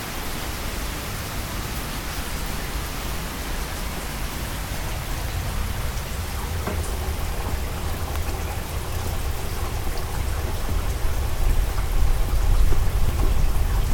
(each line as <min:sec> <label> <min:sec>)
0:00.0 rain on the balcony 0:13.9